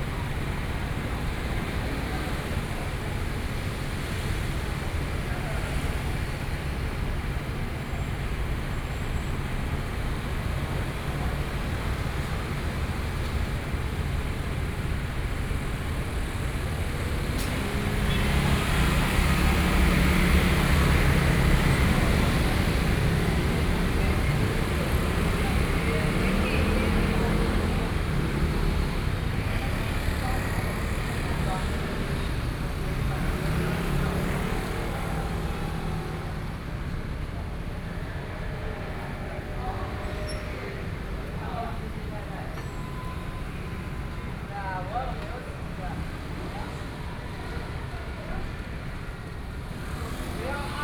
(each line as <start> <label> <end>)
0.0 Traffic Sound 50.8